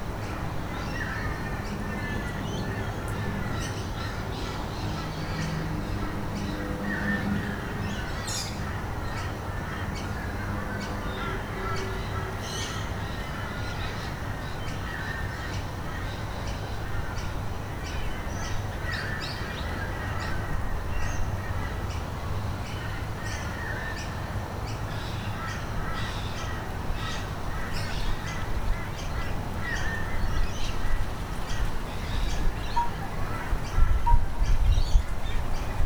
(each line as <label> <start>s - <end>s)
Birds 22.7s - 35.8s
wind chimes 32.6s - 33.3s